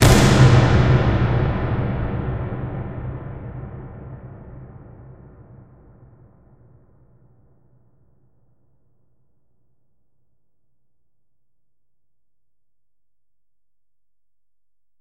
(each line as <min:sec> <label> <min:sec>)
0:00.0 Cinematic Boom 0:06.8